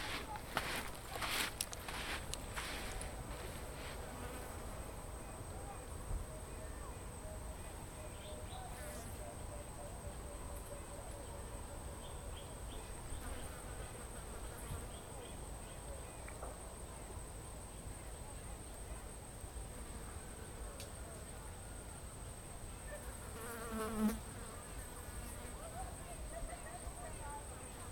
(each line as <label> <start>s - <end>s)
Walking sound through the bush 0.0s - 4.6s